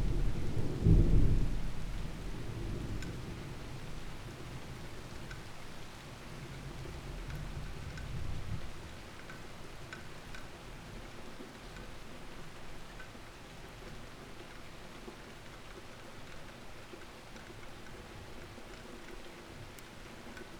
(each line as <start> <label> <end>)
0.0 thunderstorm 4.8